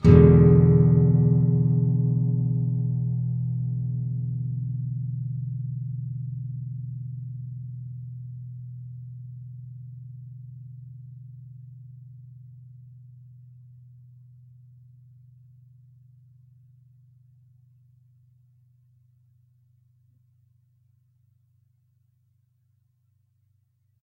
nylon guitar 0:00.0 - 0:14.0

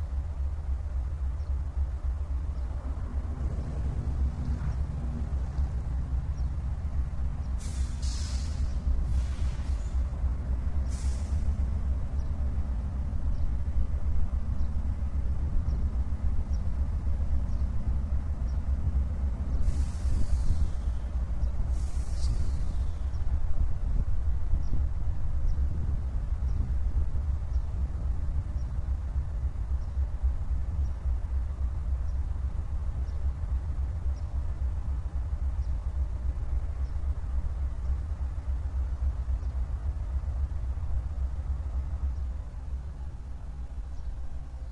train pulling away 0:00.0 - 0:23.6
Deisel locomotive standing and filling air brakes 0:07.3 - 0:12.3
Deisel locomotive standing and filling air brakes 0:19.1 - 0:23.4

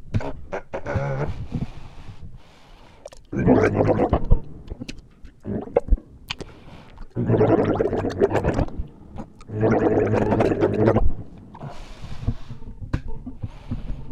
Monster gargling 0:03.3 - 0:04.3
Monster gargling 0:05.4 - 0:05.9
Monster gargling 0:07.1 - 0:11.1

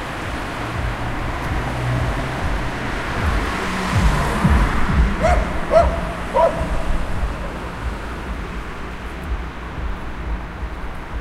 passing by cars 0:00.0 - 0:11.2
barking dog 0:05.2 - 0:07.8

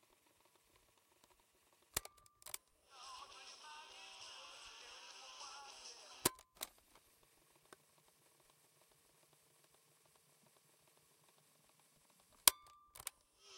CassettePlayer-RWD-FWD-STOP 0:02.0 - 0:06.9
CassettePlayer-RWD-FWD-STOP 0:12.4 - 0:13.5

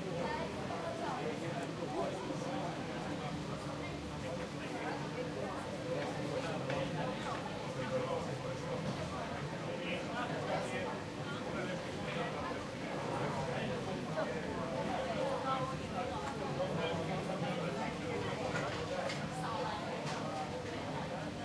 crowded café 0:00.0 - 0:21.4

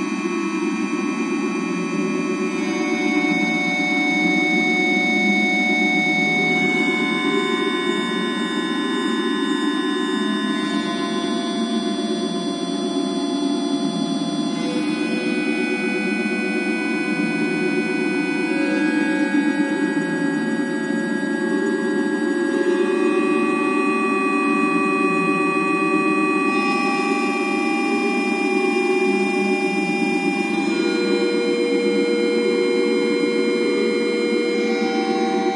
drone 0:00.0 - 0:35.5

